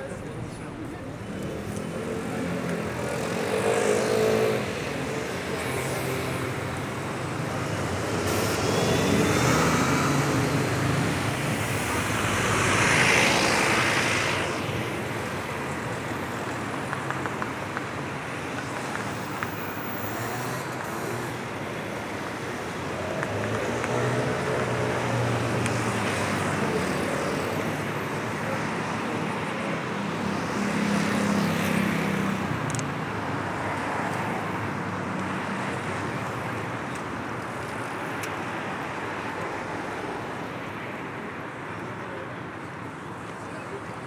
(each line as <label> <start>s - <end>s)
Trafic noise 0.0s - 44.0s
tourists talking 0.0s - 44.0s